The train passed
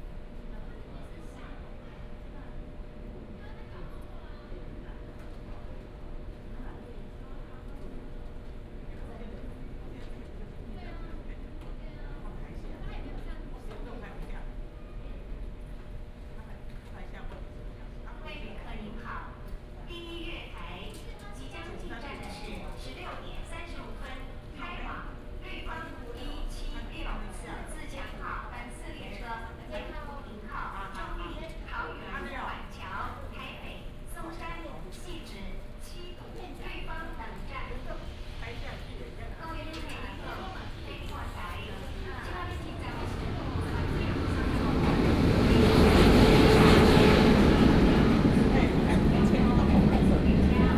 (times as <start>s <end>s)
37.1s 50.7s